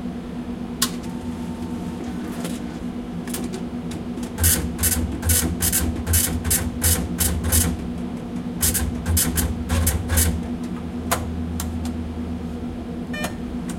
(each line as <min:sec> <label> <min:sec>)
0:13.1 Beeping 0:13.4